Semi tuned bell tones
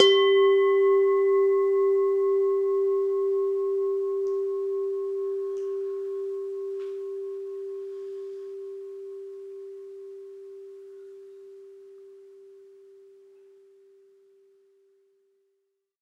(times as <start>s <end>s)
0.0s 12.8s